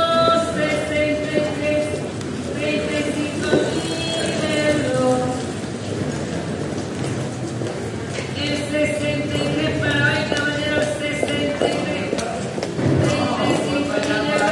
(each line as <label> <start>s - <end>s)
Voices 8.1s - 14.5s